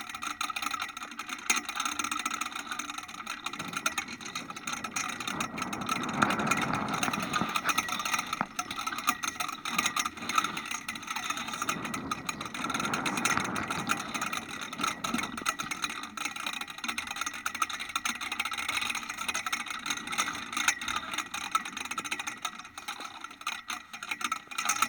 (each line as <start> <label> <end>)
2.3 flagstaff 16.6